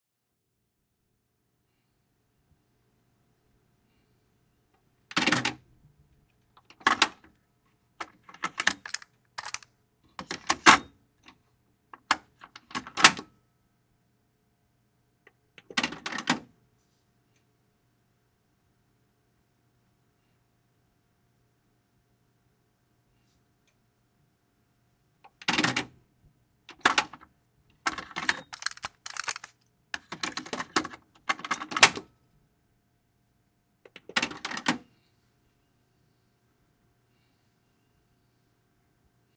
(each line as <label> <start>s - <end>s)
flipping the cassette from side A to B 8.0s - 10.9s
flipping the cassette from side A to B 27.8s - 32.0s